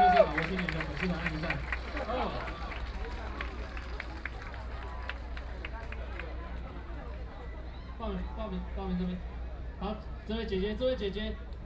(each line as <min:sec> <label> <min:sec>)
0:00.0 students and people gathered 0:11.6